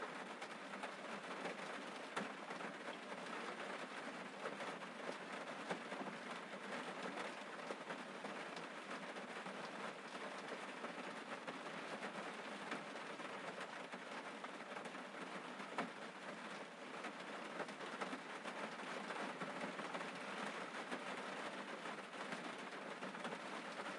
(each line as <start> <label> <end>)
0.0 Moderate Rain 23.9